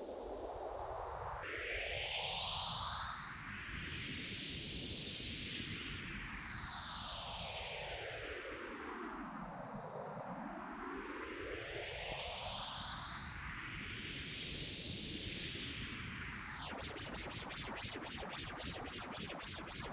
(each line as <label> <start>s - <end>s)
sci-fi synth sweeps 16.3s - 19.9s